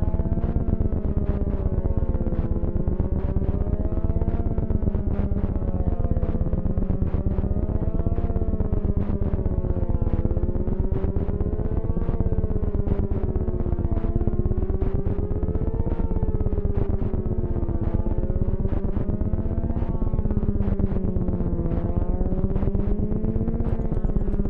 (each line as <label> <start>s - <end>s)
Drones and sequences 6.2s - 24.4s